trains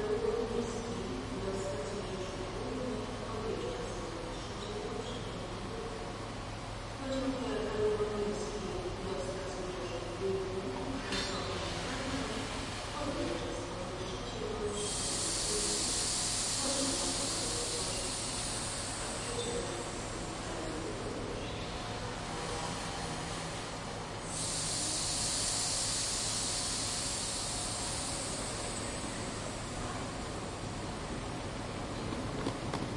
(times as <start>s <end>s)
11.1s 32.9s